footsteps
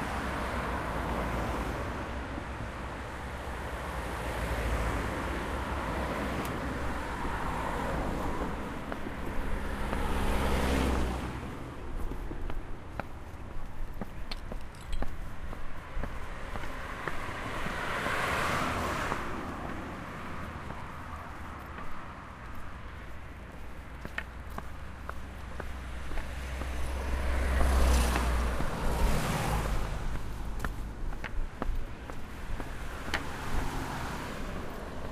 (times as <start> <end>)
11.8 17.8, 19.0 35.1